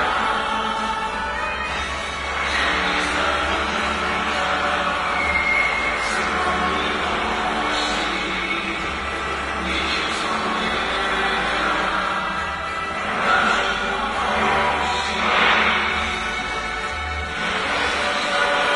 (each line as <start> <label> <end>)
0.0 music 18.7